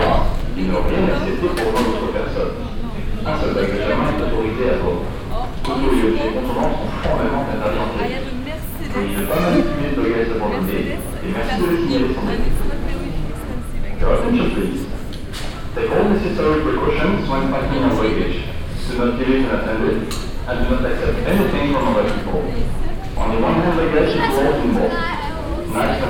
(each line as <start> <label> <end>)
0.0 announcements 18.2
0.0 voices 26.0